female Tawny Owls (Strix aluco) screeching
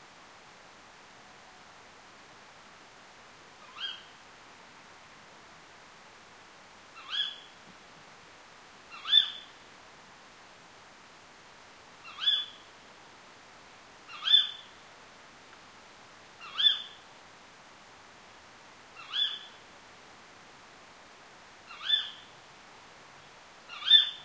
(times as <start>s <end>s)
21.7s 22.2s, 23.7s 24.2s